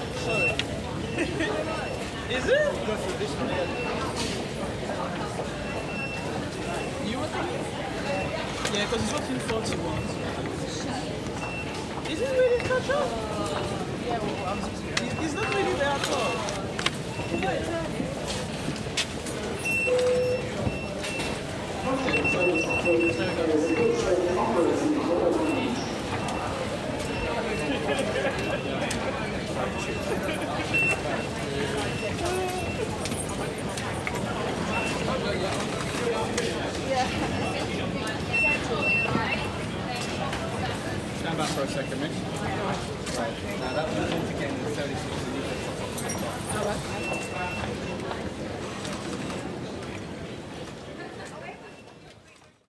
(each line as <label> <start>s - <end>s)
chatter 0.0s - 52.6s
signals 19.5s - 35.3s